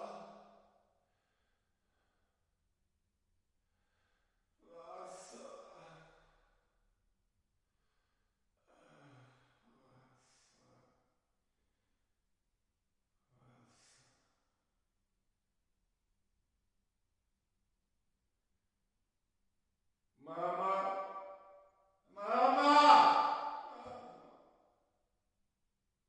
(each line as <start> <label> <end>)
22.2 men crying in pain 23.9